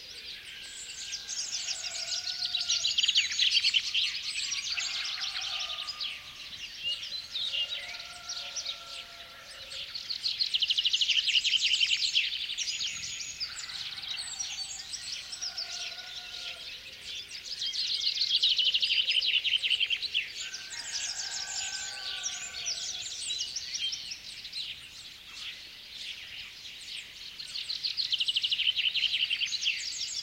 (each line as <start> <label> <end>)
0.0 lots of bird species in foreground 30.2
0.6 distant rooster 3.1
4.4 distant rooster 6.6
7.2 distant rooster 10.0
13.5 distant rooster 16.8
20.4 distant rooster 23.3